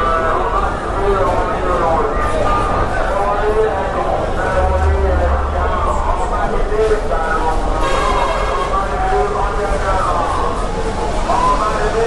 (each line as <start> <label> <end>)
4.5 P.A system 6.8